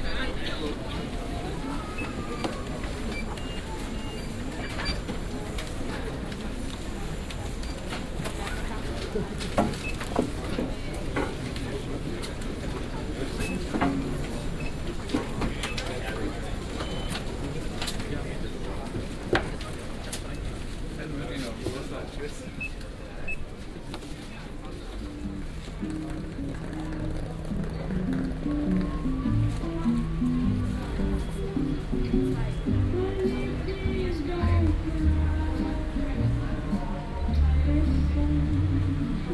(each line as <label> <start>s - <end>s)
Musik 25.0s - 39.3s